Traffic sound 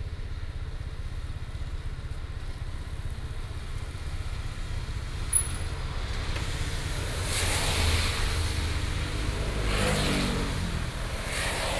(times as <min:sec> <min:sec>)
0:05.2 0:11.7